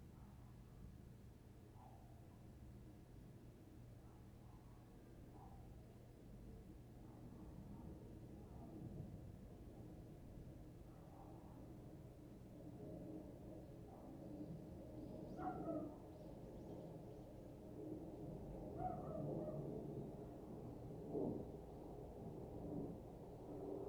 Dogs barking 15.4 - 16.0
Dogs barking 18.8 - 19.7

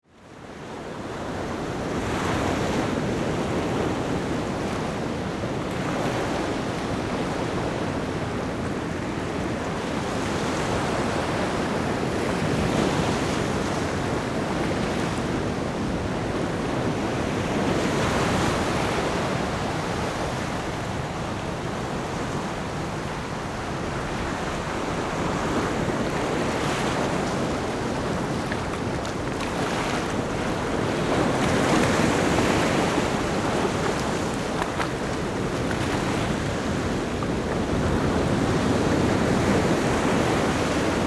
Big waves 14.4 - 41.0

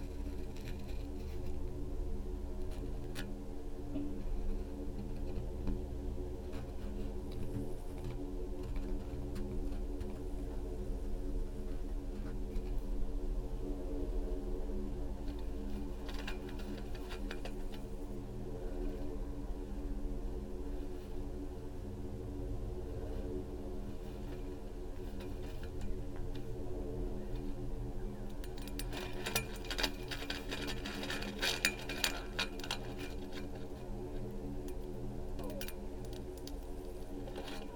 sand and tiny stones 0.0 - 13.0
sand and tiny stones 14.7 - 37.7
leaves 22.7 - 37.7

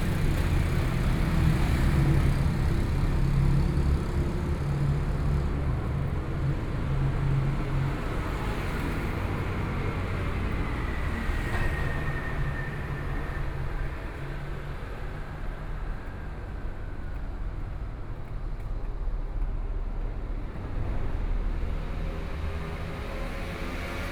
Traffic Noise 0.0 - 24.1
Walking through the underpass 0.0 - 24.1

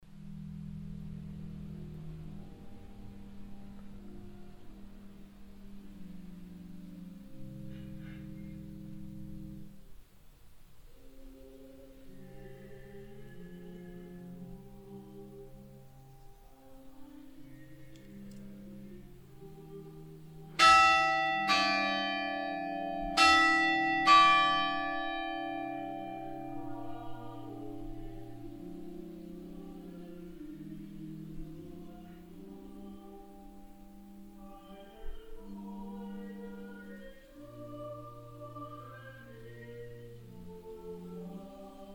organ sound from inside the church 0.0 - 10.0
distant sound of the church choir 0.0 - 41.9
organ sound from inside the church 10.9 - 41.9
hour bells of the church 20.6 - 30.4

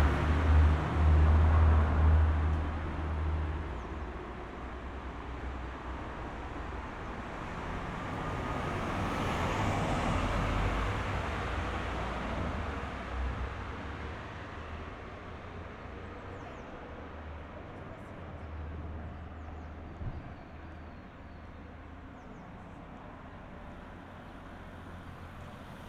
pedestrians 0.0 - 25.8
trains of all kind on different levels 0.0 - 25.8

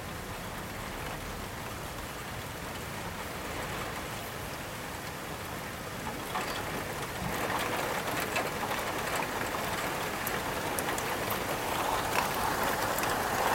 rain during a thunderstorm 0.0 - 13.5

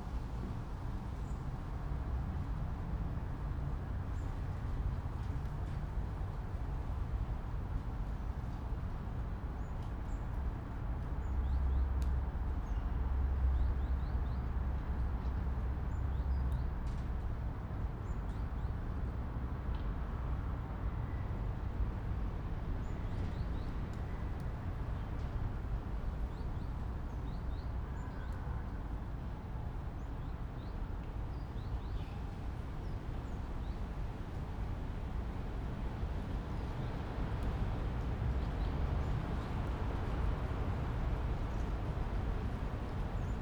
wind roar in distant birches 31.3 - 43.4

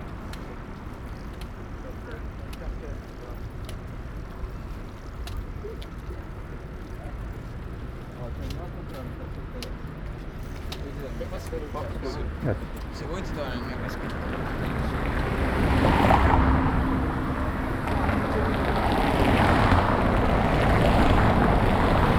Biking on the bank of Po River 0.0 - 22.1

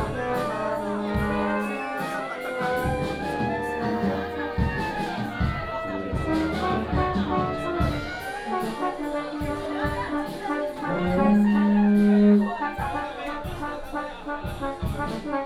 Many students practice 0.0 - 15.4

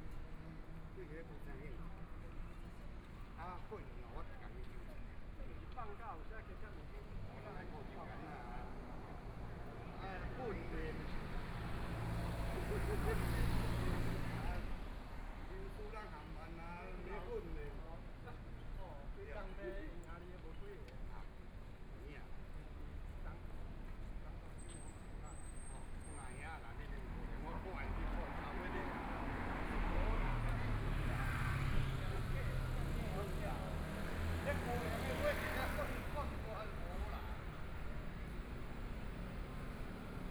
Walking In the Street 0.0 - 40.3
Traffic Sound 10.6 - 15.7
Traffic Sound 24.0 - 40.3

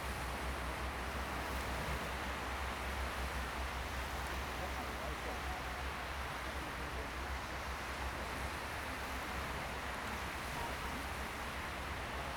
waves 0.1 - 12.3

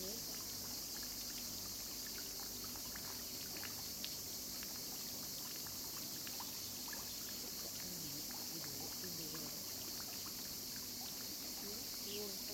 cicadas are chirping 0.0 - 12.5

